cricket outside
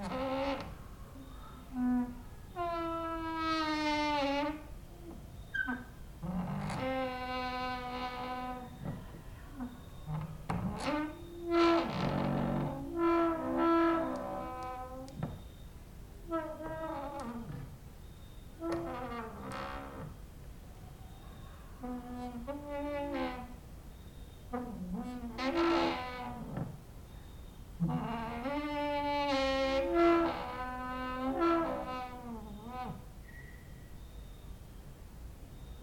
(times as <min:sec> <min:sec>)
0:35.6 0:35.8